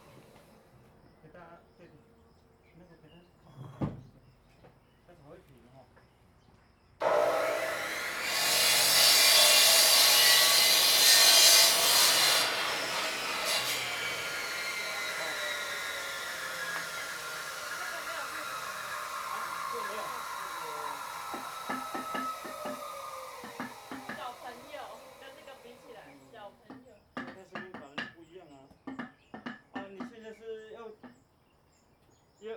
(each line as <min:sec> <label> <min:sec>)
0:07.0 Saw Bamboo 0:26.3